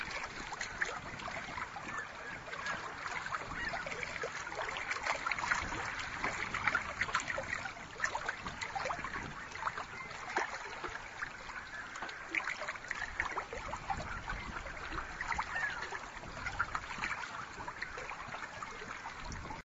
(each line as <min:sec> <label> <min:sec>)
0:00.0 smallwaves 0:19.6